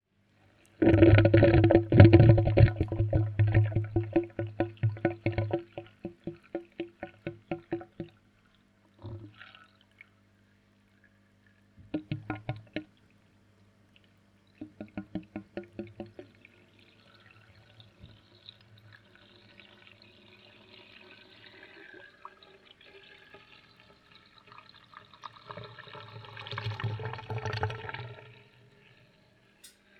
water filling the pipes 0.6 - 10.0
water draininig 0.8 - 8.2
water draininig 11.8 - 12.9
water filling the pipes 11.8 - 13.0
water filling the pipes 14.5 - 29.9
water draininig 14.6 - 22.4

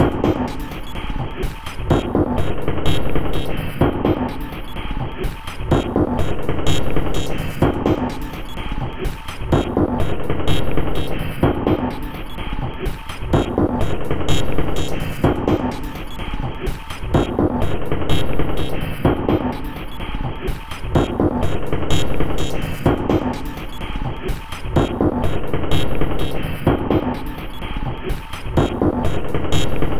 Drum Loop 0.0 - 29.9

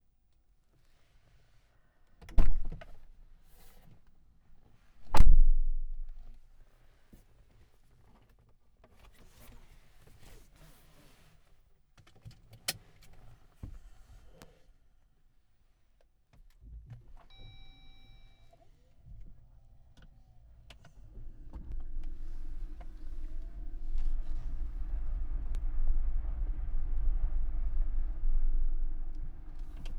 slow drive 16.8 - 29.9
car starts 17.0 - 29.9

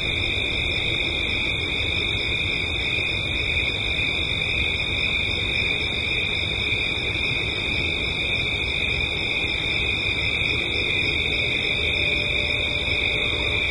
crickets 0.0 - 13.7

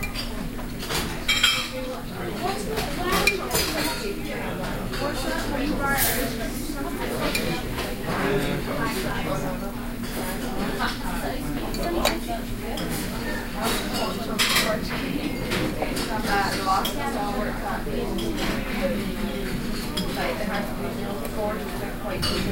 crowd 0.0 - 22.5

